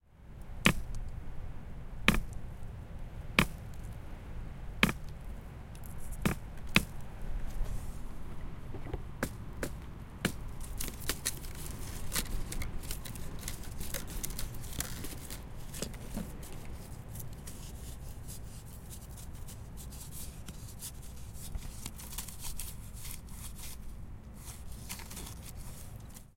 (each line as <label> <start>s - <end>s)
rustle 0.3s - 26.3s